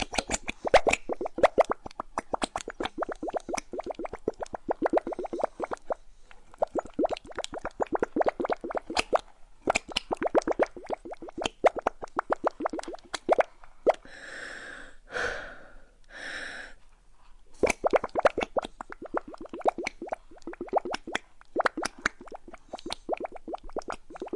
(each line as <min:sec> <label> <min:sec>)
0:00.0 blowing through a straw into a thick batter 0:13.4
0:17.6 blowing through a straw into a thick batter 0:24.3